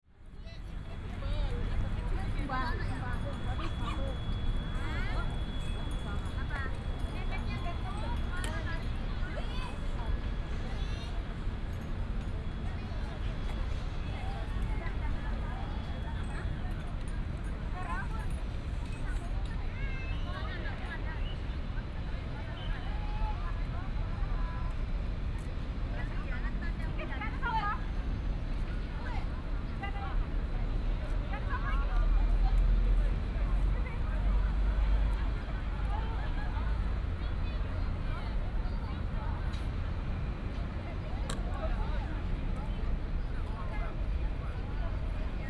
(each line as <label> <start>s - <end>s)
Traffic sound 0.2s - 17.8s
Traffic sound 28.8s - 45.4s